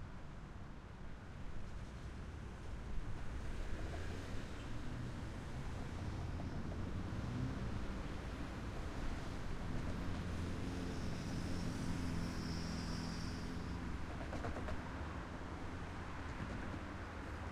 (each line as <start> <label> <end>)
0.8 road traffic 17.5